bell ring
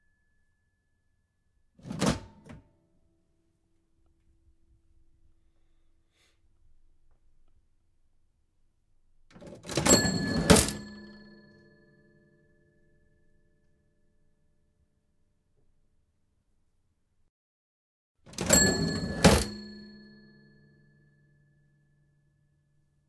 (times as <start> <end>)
9.7 12.2, 18.4 21.2